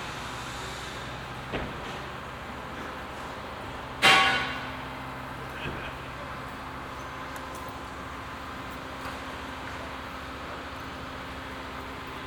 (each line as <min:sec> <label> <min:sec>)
0:00.0 big street construction 0:12.2